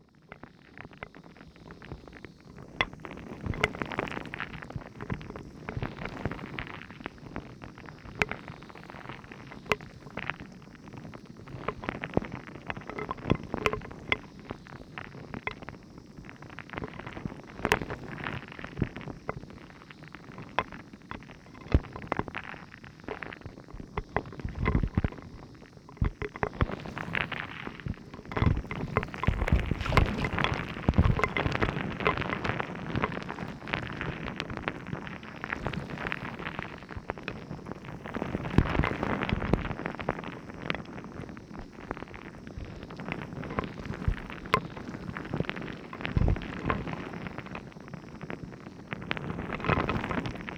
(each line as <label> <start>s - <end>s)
waves 26.1s - 33.7s